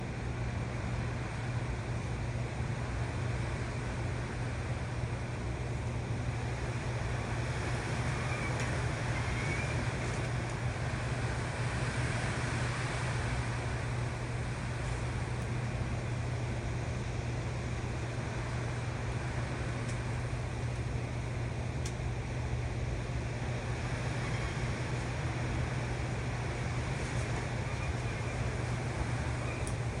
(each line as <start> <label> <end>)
0.0 wind 30.0
6.1 leaves 21.4
23.1 leaves 30.0